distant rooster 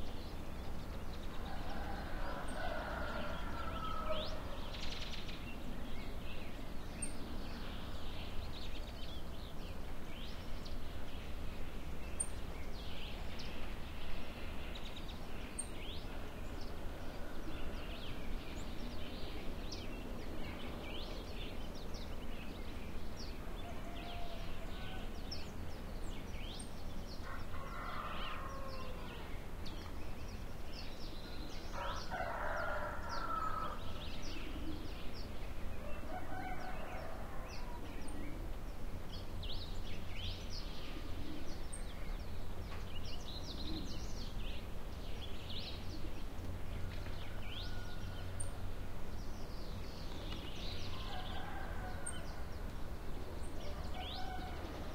1.3 5.0, 16.1 18.2, 23.2 25.5, 27.2 29.4, 31.2 34.9, 35.7 38.4, 46.7 49.0, 50.4 54.9

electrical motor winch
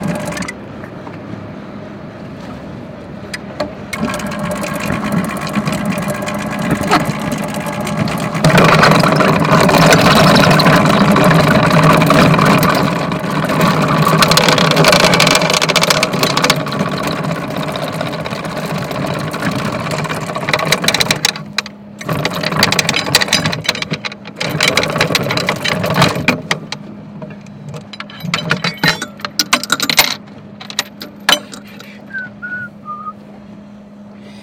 0.0 0.6, 3.9 26.9

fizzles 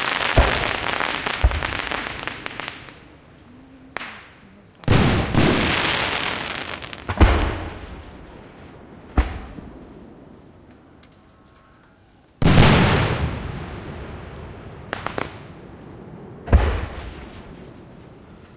0.0 8.1

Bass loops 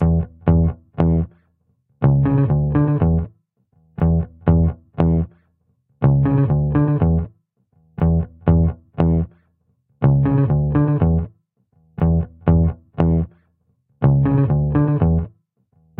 0.0 1.4, 2.0 3.3, 4.0 5.4, 6.0 7.3, 8.0 9.4, 10.0 11.3, 12.0 13.4, 14.0 15.3

